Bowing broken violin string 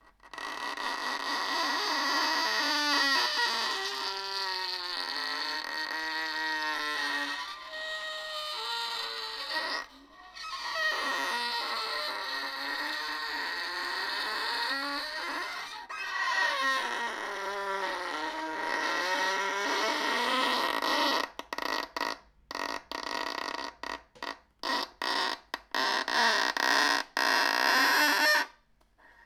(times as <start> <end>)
0.5 20.6